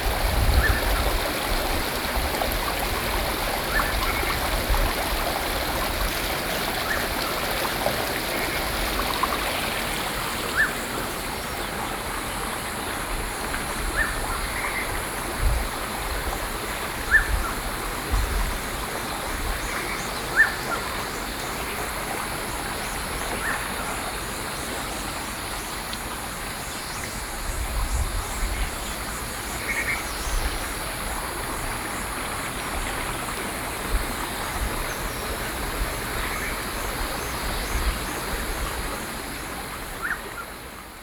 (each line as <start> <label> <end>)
0.0 Stream 41.0